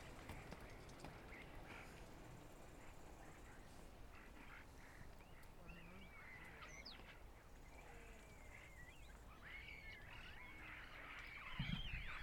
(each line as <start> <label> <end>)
0.0 Cyclists 9.3